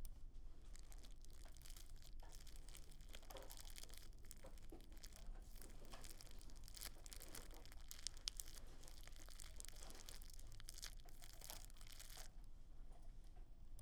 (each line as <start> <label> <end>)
0.6 Wrapping something in a plastic bag/ziplock 12.3